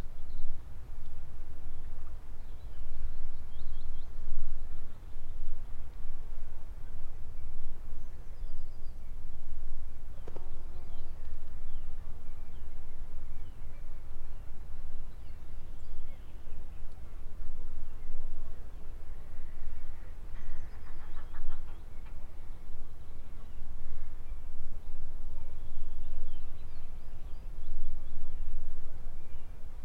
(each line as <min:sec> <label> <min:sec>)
0:20.7 Nesting gulls 0:21.8